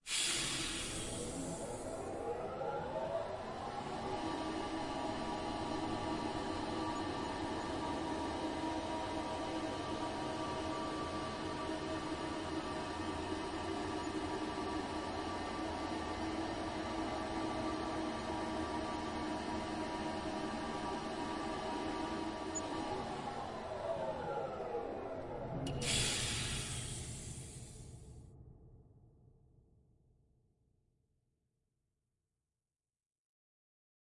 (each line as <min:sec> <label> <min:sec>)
0:00.0 Science Fiction Elevator Starting, Moving and Stopping 0:28.3